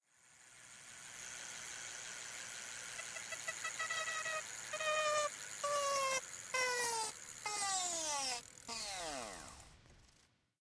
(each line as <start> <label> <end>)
0.2 Stopping a spinning bike tire 10.2